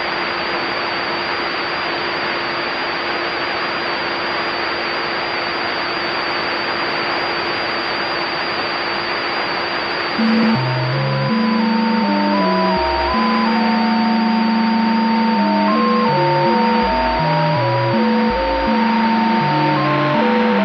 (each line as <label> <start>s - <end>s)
static 10.2s - 20.6s